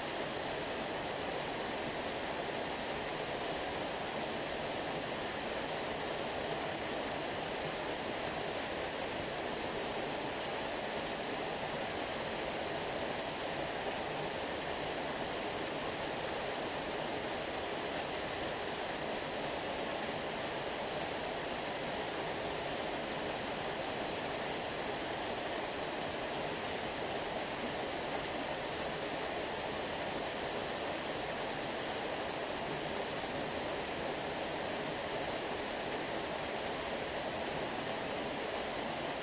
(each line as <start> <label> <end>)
0.0 waterfall 39.2